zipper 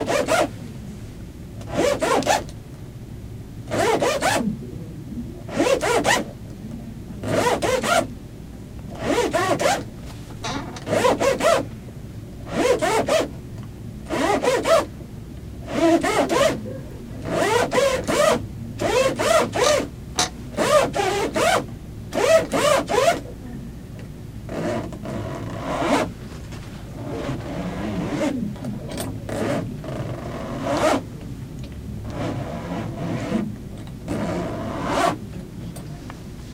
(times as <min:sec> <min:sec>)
0:00.0 0:00.5, 0:01.6 0:02.5, 0:03.7 0:04.5, 0:05.5 0:06.3, 0:07.2 0:08.1, 0:08.9 0:09.9, 0:10.8 0:11.6, 0:12.5 0:13.3, 0:14.1 0:14.9, 0:15.6 0:16.6, 0:17.2 0:19.9, 0:20.6 0:23.2, 0:24.5 0:26.1, 0:27.0 0:31.0, 0:32.0 0:35.2